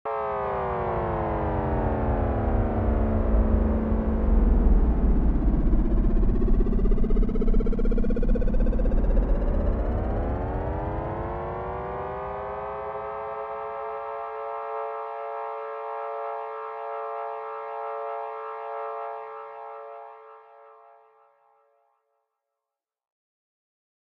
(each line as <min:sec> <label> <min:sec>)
0:00.1 alien UFO space ship approaches 0:20.8